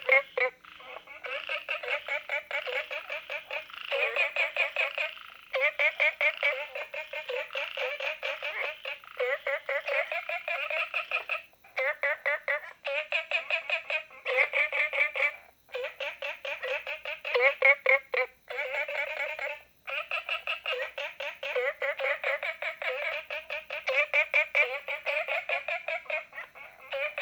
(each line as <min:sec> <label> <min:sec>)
0:00.0 Frogs chirping 0:27.2